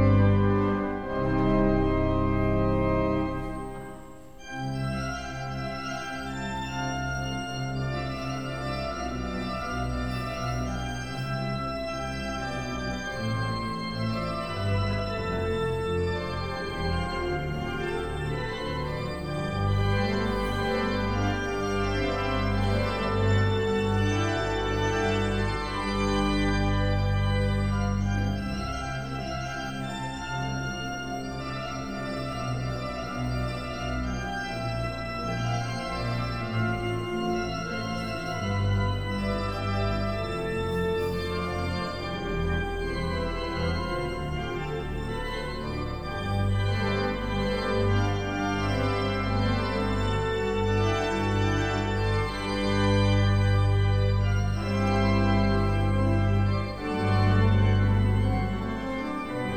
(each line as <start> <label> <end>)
0.0 concert in church 59.5
0.0 grand organ 59.5